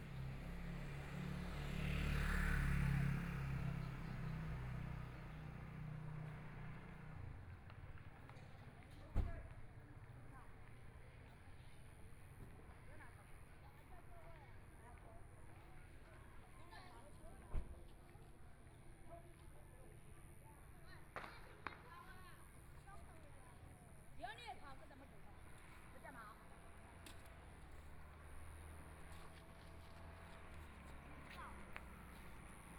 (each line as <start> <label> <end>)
0.0 Traffic Sound 32.7
0.0 Walking in the small streets 32.7
21.1 Kids playing firecrackers 22.3